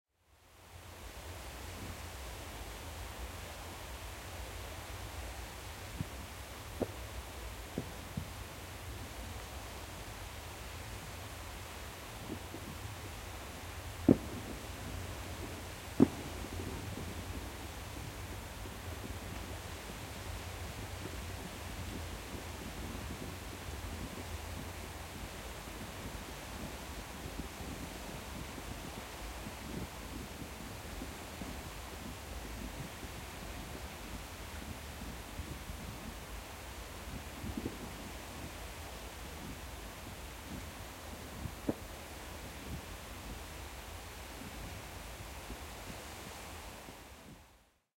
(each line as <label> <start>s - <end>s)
fireworks 14.0s - 20.0s